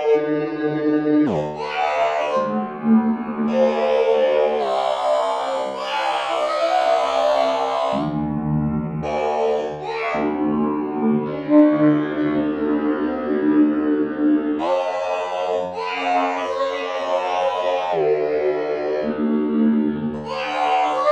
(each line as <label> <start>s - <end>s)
singing 1.3s - 8.2s
singing 14.6s - 21.1s